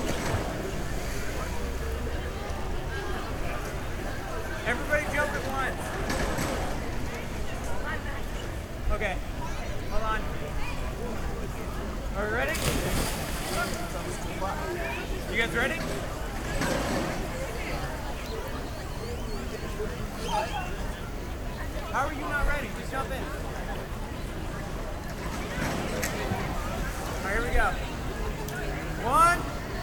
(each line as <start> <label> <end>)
0.0 diving board 7.6
11.0 diving board 29.8
12.5 splashing water 16.6